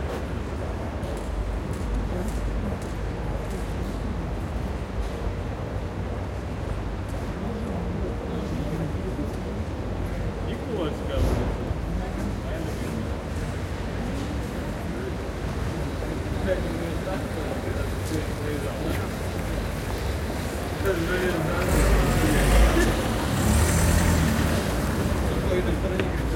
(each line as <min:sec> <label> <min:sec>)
0:00.0 pedestrians walking by 0:26.3
0:07.4 voices 0:26.3
0:16.1 cars passing slow 0:26.3